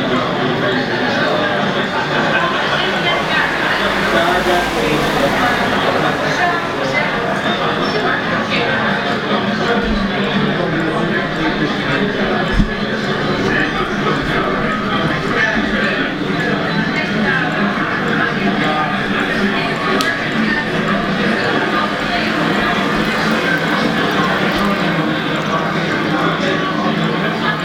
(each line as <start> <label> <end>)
0.0 energic big cities 27.6